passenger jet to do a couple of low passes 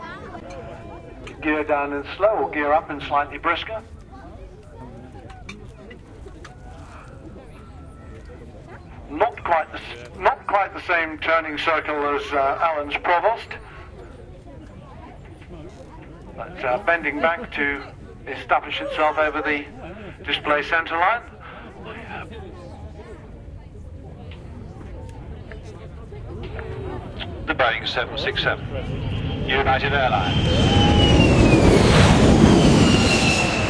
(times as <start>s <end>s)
24.0s 33.6s